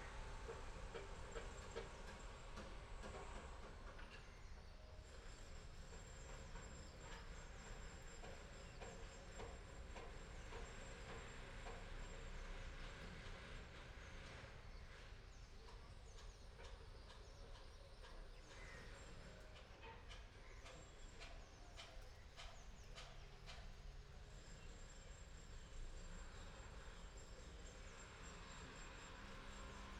crows 0:18.5 - 0:19.0

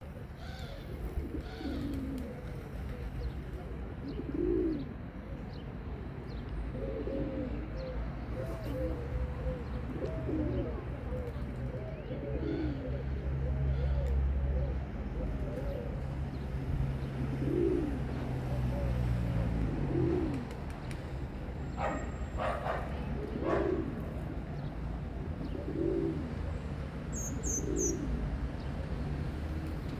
pigeons or doves cooing 0:00.0 - 0:05.6
distant traffic 0:00.0 - 0:29.9
pigeons or doves cooing 0:06.3 - 0:29.9
birds tweeting 0:20.3 - 0:26.2
birds tweeting 0:27.1 - 0:28.8

